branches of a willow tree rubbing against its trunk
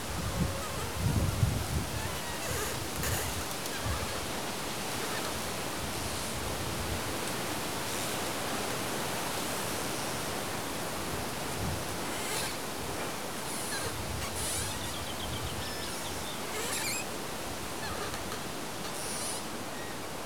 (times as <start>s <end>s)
0.1s 5.4s, 11.4s 19.5s